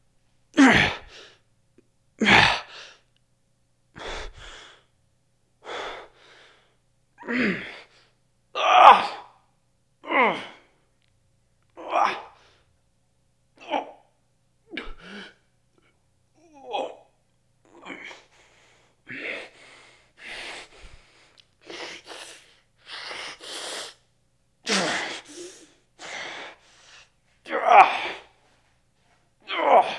0.6s Henchman #2 Fight Vocalizations 1.1s

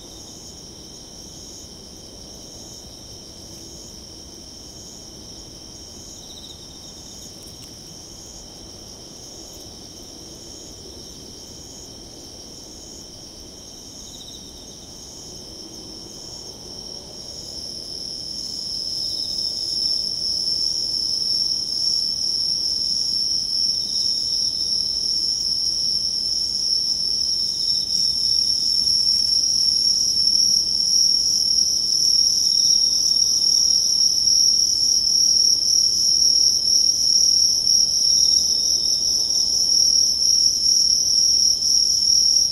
0.0s cicadas 42.5s
0.0s crickets 42.5s

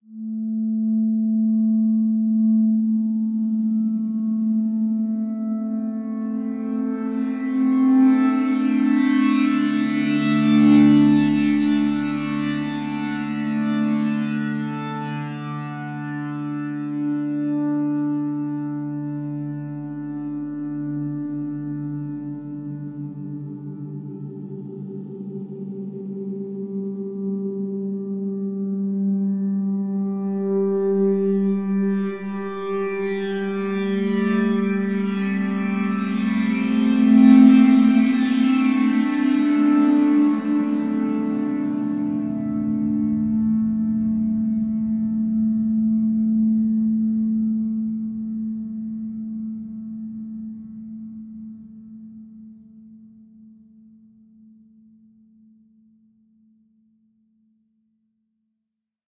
0.9s drone 52.8s

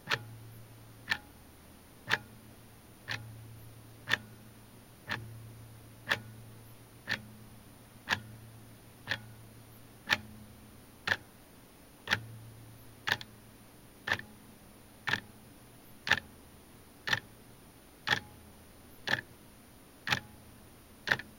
0.0s more pronounced mechanical ticks 11.4s
12.0s more pronounced mechanical ticks 19.4s
20.0s more pronounced mechanical ticks 21.3s

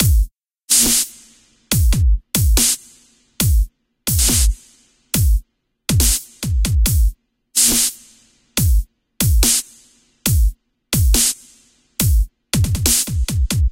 0.0s beat 1.0s
1.7s beat 2.8s
3.4s beat 4.6s
5.2s beat 7.9s
10.3s beat 11.4s
12.0s beat 13.7s

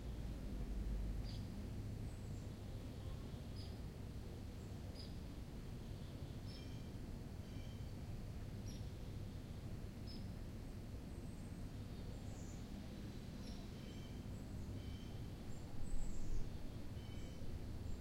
0.0s distant sound highway 18.0s
8.6s birds 18.0s

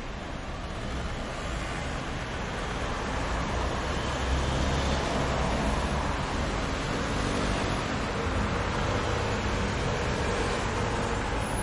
0.0s traffic 11.6s

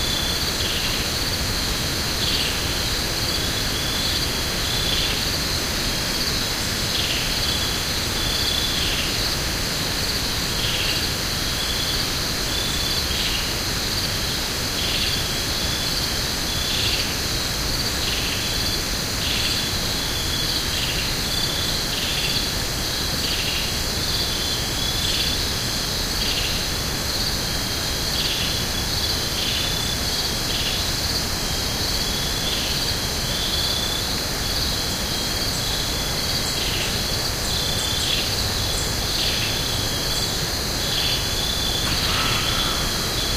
0.0s crickets 43.3s
0.0s hiss of wind through the broadleaf trees 43.3s

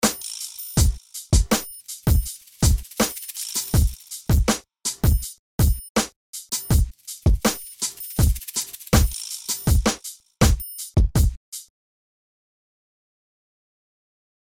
0.0s hihat 11.7s
1.8s container 4.3s
6.9s container 9.8s

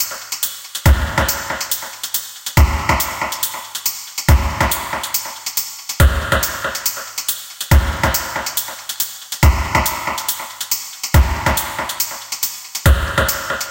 0.0s DRUMS ONEDROP PROCESSED 13.7s

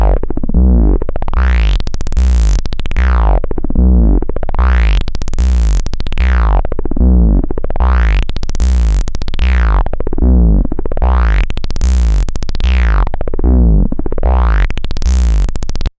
0.0s Raw analog Bass stretch sounds 15.9s

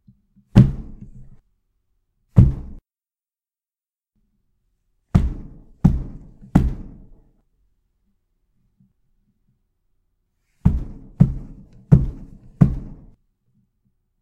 0.5s Heavy Wall Pounding 1.3s
2.4s Heavy Wall Pounding 2.8s
5.2s Heavy Wall Pounding 7.2s
10.6s Heavy Wall Pounding 13.2s

